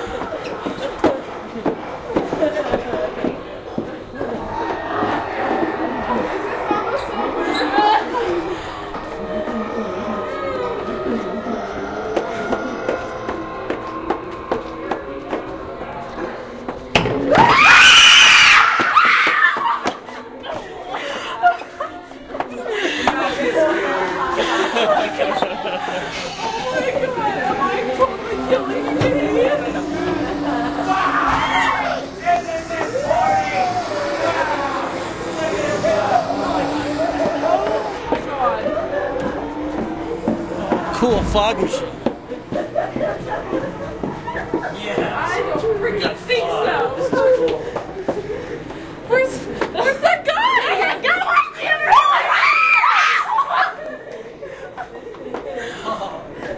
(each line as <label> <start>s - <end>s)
walking through a high end Haunted House 0.0s - 56.5s
Girls have high pitched screams 17.3s - 19.9s
Girls have high pitched screams 50.4s - 53.6s